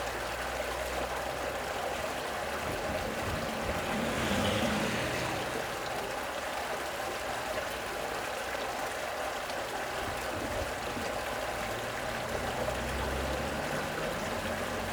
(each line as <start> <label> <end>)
0.0 underground stream flowing underground 14.9